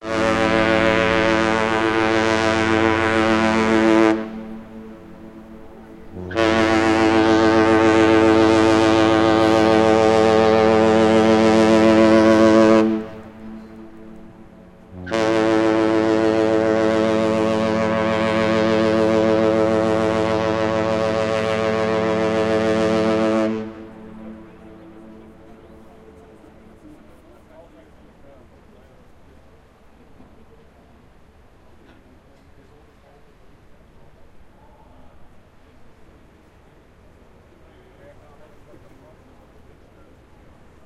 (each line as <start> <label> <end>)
0.0 Ship Horn 28.7